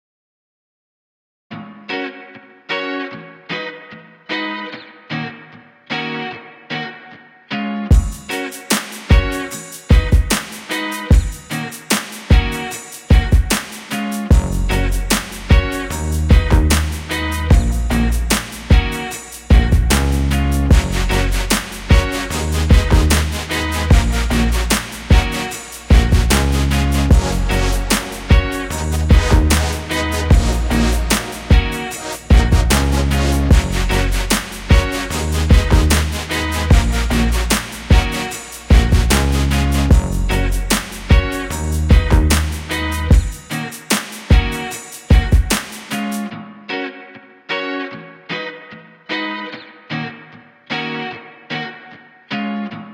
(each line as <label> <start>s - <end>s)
guitar 1.5s - 52.9s
drums 7.9s - 46.3s